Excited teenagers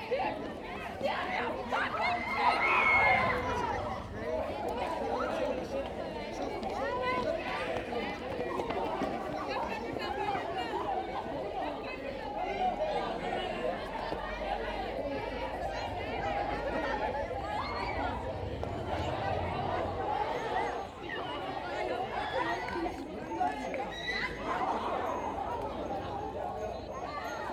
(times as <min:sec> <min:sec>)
0:01.8 0:04.2